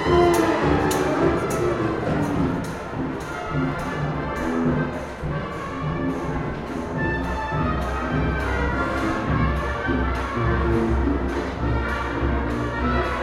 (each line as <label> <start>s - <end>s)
marching 0.0s - 13.2s